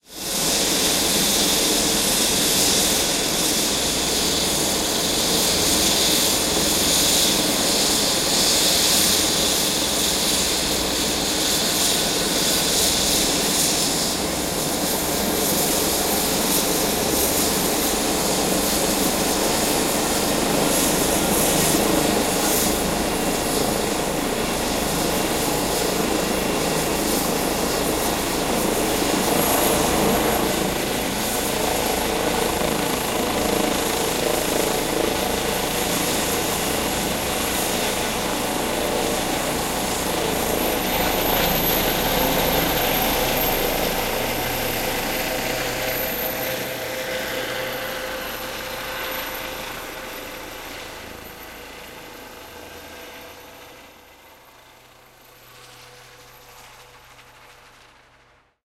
starting Eurocopter EC-135 0.2 - 55.4

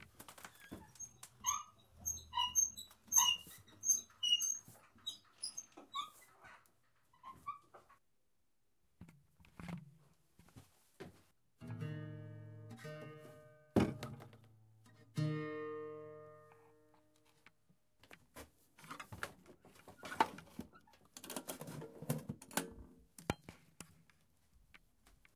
Counterweight squeak 0.4 - 7.9
bumping into a dilapidated guitar 12.8 - 14.5

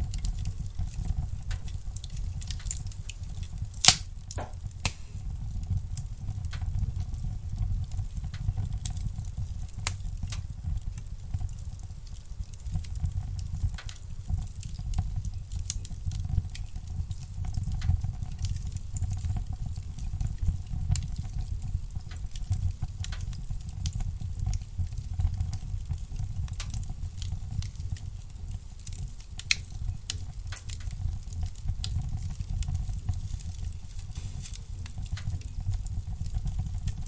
hearth fire 0.0 - 37.0

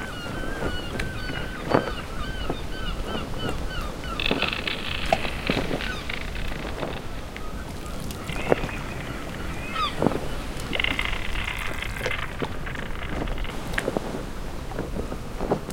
ocean 0.0 - 15.7
sail 0.0 - 15.7
wind 0.0 - 15.7
creak 0.6 - 14.1

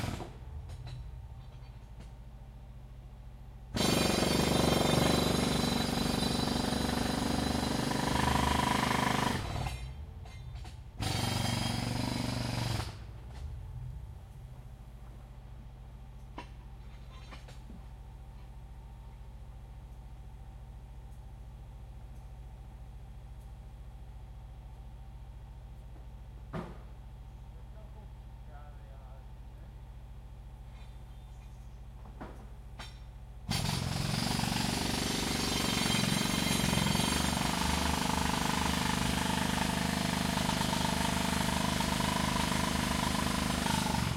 Jack Hammer hammering away 0.0 - 1.0
Jack Hammer hammering away 3.8 - 13.1
Jack Hammer hammering away 32.8 - 44.1

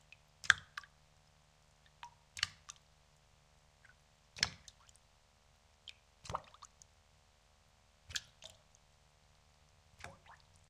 drops on water 2.0 - 2.8
drops on water 4.4 - 4.9
drops on water 8.1 - 8.6
drops on water 10.0 - 10.4

